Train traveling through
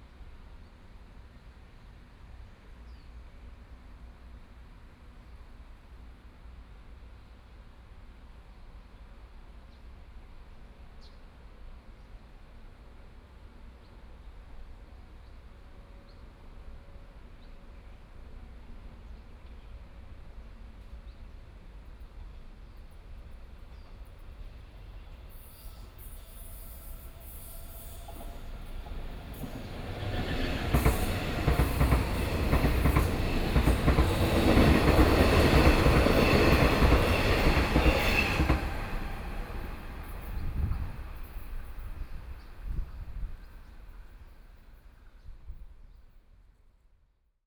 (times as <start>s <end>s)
19.8s 45.0s